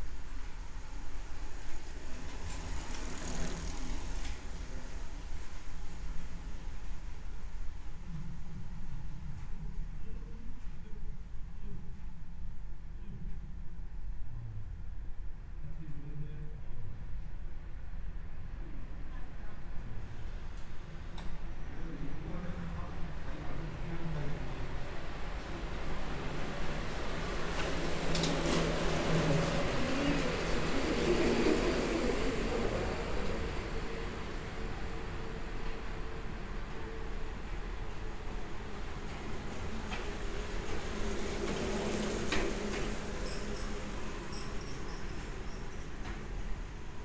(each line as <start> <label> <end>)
24.8 cyclist enter and exit 47.0